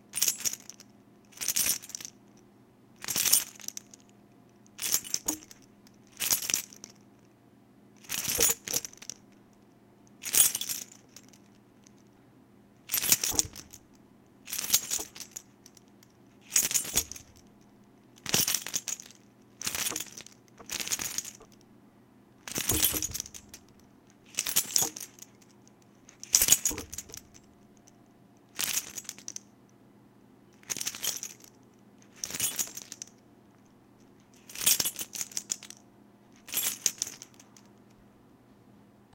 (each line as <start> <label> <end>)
4.8 Key Rattle 5.6
8.0 Key Rattle 9.2
10.2 Key Rattle 11.5
12.9 Key Rattle 13.9
14.5 Key Rattle 15.8
16.4 Key Rattle 17.5
18.2 Key Rattle 21.6
22.5 Key Rattle 25.5
26.1 Key Rattle 27.8
30.6 Key Rattle 31.5
32.1 Key Rattle 33.1
34.4 Key Rattle 35.7
36.4 Key Rattle 37.6